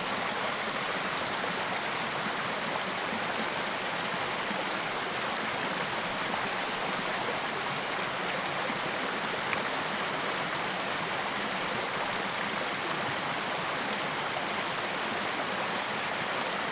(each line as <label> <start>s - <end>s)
water flowing along the West Dart River 0.0s - 16.7s